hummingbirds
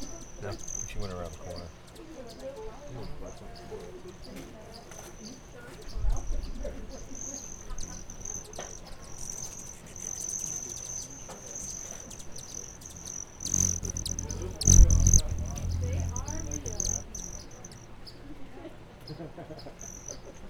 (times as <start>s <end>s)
12.9s 17.7s